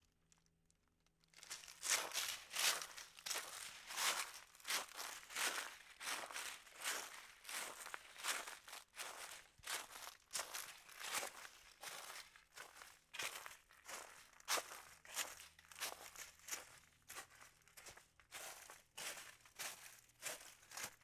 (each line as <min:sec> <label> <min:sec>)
0:01.4 Footsteps through leaves at a slow steady pace 0:21.0